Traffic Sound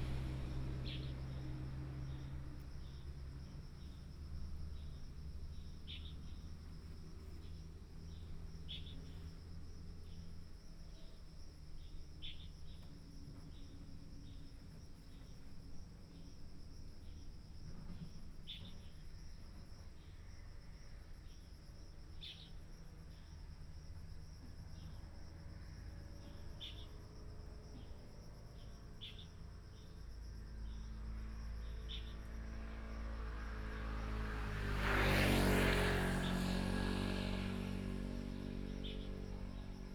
0.0 14.6, 24.4 39.9

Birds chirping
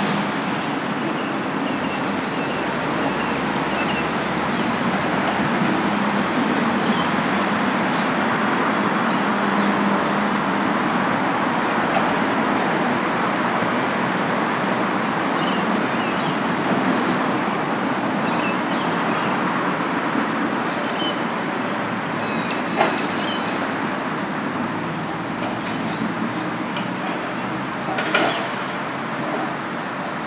22.2 28.6

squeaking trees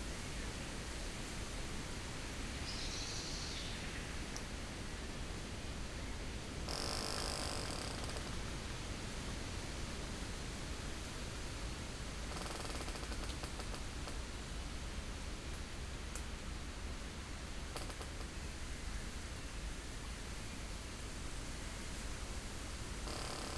6.7 8.5, 12.3 14.2, 17.8 18.3, 23.1 23.5

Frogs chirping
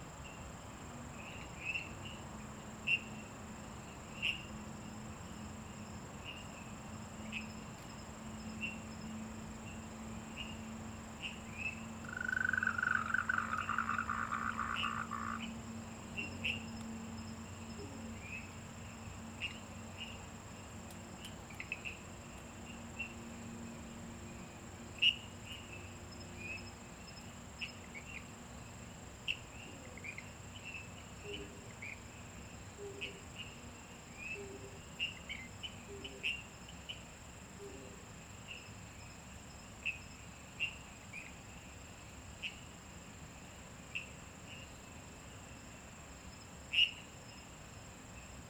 8.3 20.3, 21.5 23.3, 25.0 28.3, 29.3 37.8, 38.4 41.4, 43.9 47.4

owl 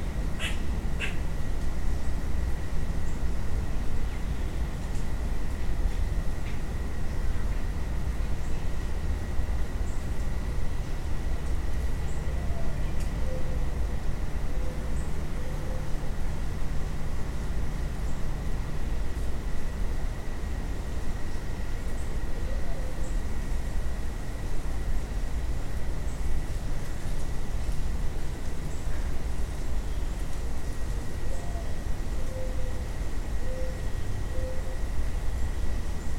0.4 1.2, 12.1 13.7, 22.3 23.2, 31.2 32.8, 33.4 34.8

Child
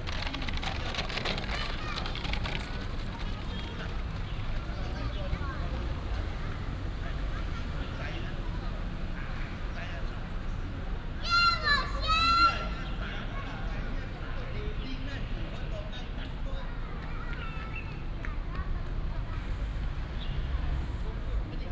0.1 4.1, 11.2 12.8, 16.6 19.8

